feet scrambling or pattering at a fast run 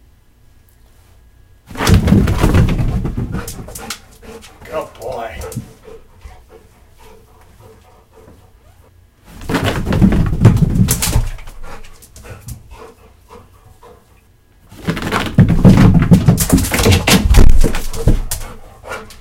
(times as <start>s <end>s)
14.8s 19.1s